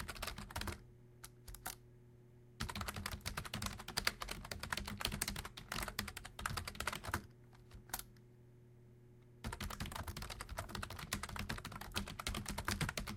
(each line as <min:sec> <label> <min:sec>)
0:00.0 Typing on a semi-mecanic keyboard 0:01.8
0:02.6 Typing on a semi-mecanic keyboard 0:08.1
0:09.4 Typing on a semi-mecanic keyboard 0:13.1